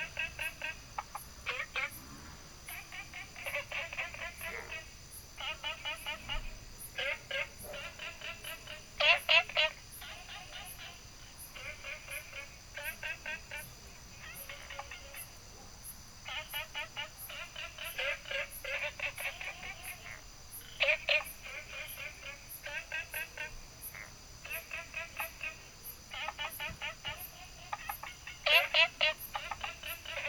0.0s Frogs chirping 30.2s
0.0s Insects called 30.2s

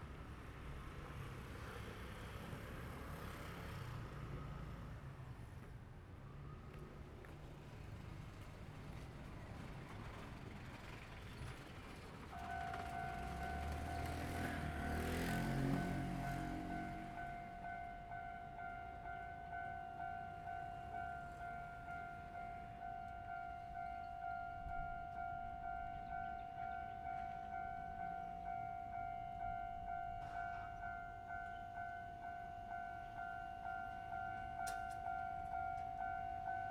0.0s Traffic sound 36.7s
6.7s The train runs through 36.7s

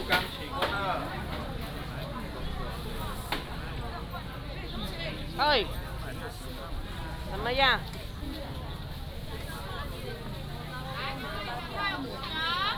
0.0s Market selling sound 12.7s
0.0s Walking in the traditional market 12.7s

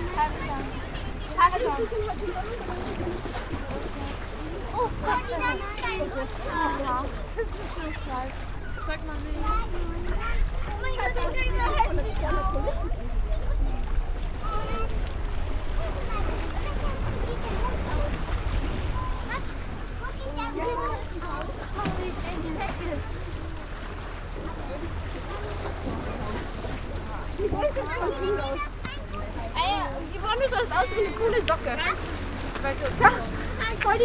0.0s german speaking young ladies 13.0s
29.3s german speaking young ladies 34.0s

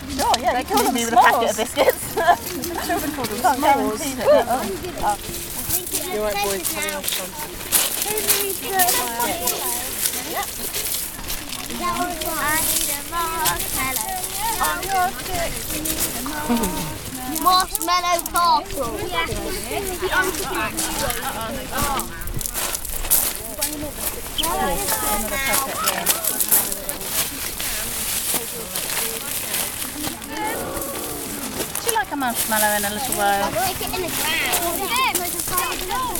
0.0s Children 36.1s

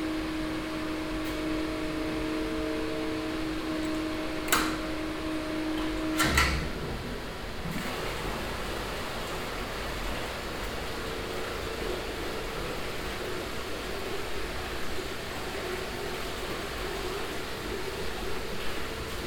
0.0s machines 19.2s
0.0s water pumps 19.2s

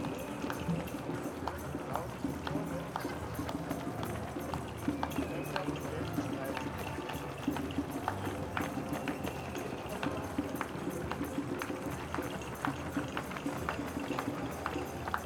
0.0s applauding people along the road 15.2s
0.0s music 15.2s
0.0s runners running-by 15.2s

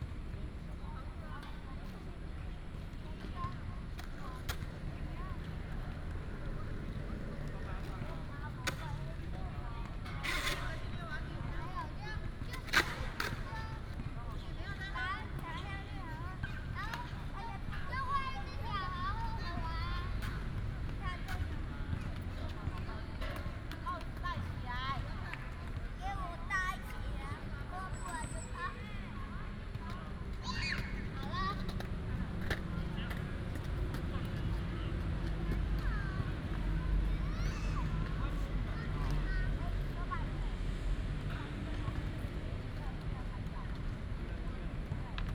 3.9s skateboard 10.9s
12.4s skateboard 14.0s
30.7s skateboard 34.6s

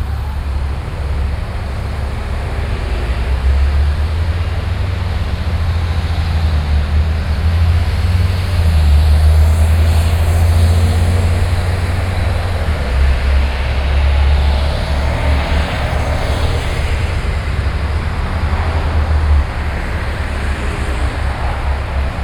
0.0s Road traffic 22.2s

